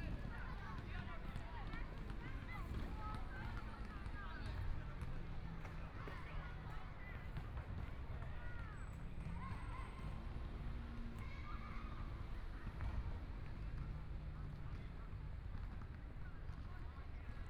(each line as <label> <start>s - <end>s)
people are doing sports 0.0s - 17.4s